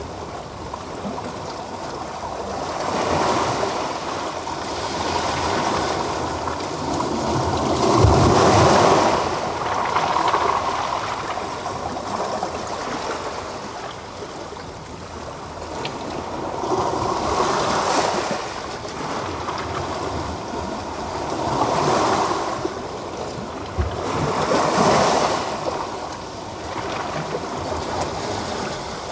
Sea 0.0 - 29.1

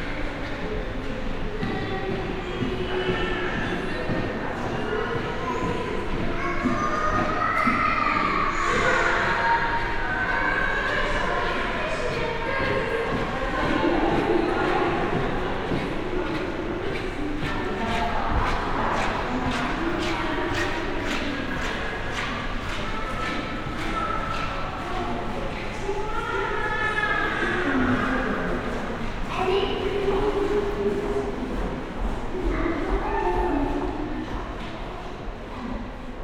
voices 0.0 - 36.2

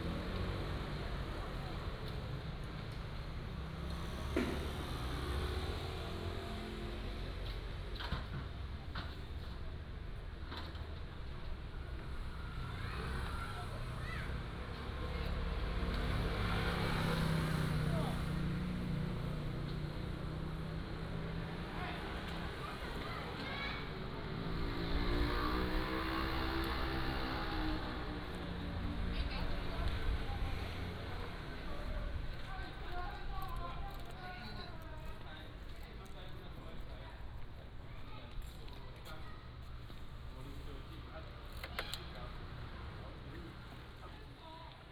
Traffic Sound 0.0 - 44.9

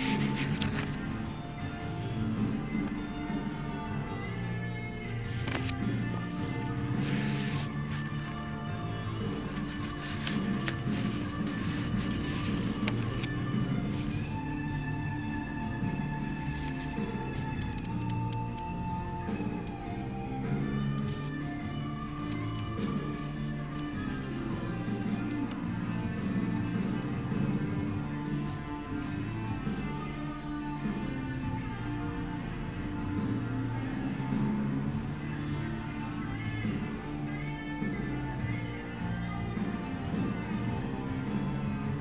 leaves of small red notebook 0.0 - 1.2
leaves of small red notebook 5.0 - 14.5

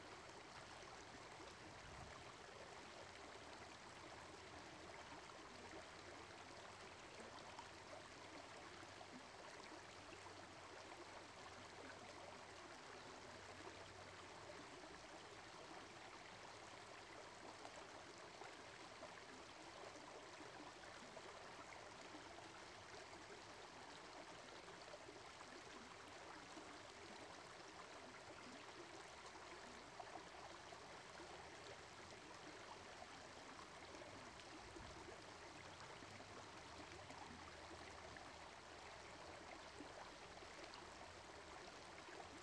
water just slowly floats down 0.0 - 42.4

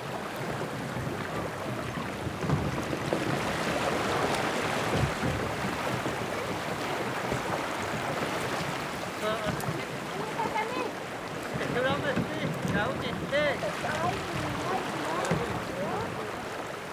man minding his little boat 0.0 - 16.9
water 0.0 - 16.9

